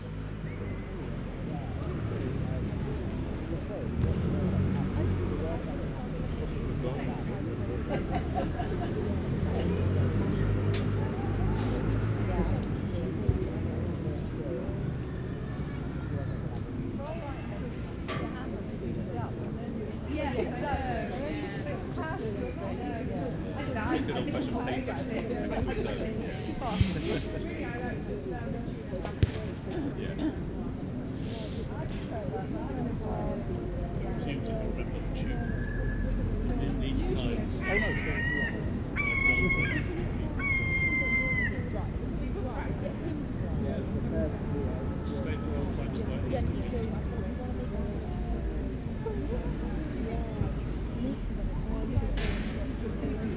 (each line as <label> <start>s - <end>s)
people talking 0.0s - 53.3s